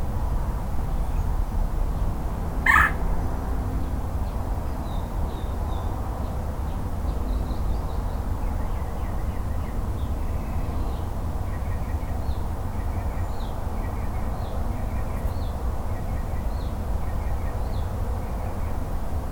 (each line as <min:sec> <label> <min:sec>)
0:02.6 Birds 0:18.8